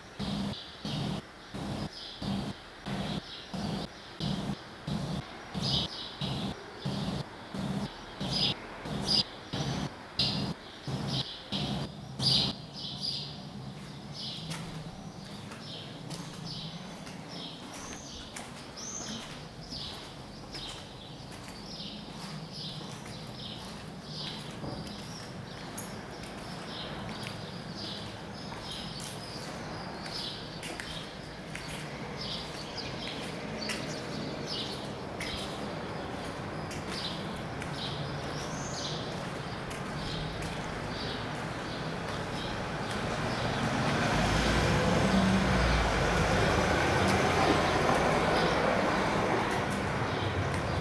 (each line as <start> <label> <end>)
0.2 steps 12.5